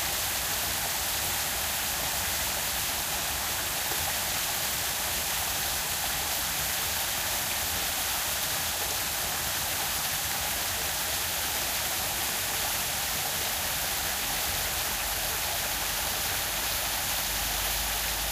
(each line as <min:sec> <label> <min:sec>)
0:00.0 small waterfall 0:18.3